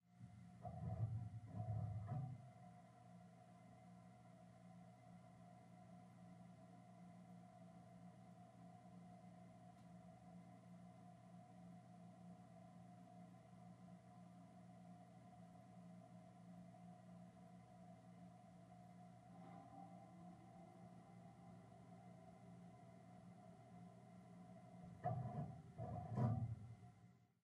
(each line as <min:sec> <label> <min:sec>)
0:00.1 big radiator 0:03.0
0:19.2 big radiator 0:27.0